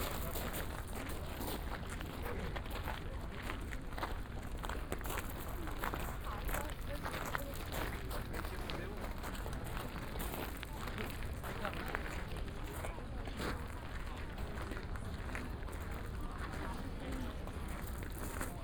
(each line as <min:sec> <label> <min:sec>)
0:00.0 steps of tourists on a crushed limestone make a crunching sound 0:18.6